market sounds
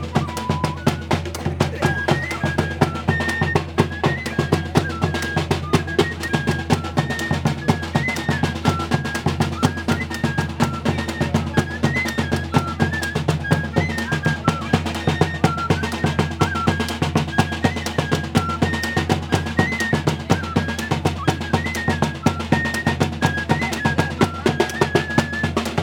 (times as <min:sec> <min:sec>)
0:01.0 0:03.3